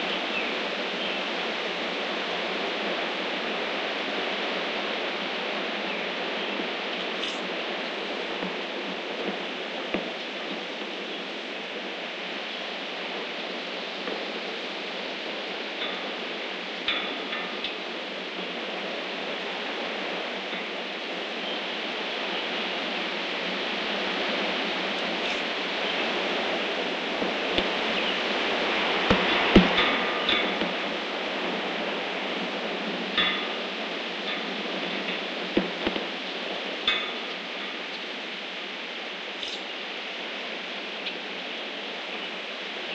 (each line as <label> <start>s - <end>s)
Birds 0.0s - 1.5s
wind 0.0s - 42.9s
Birds 5.6s - 42.9s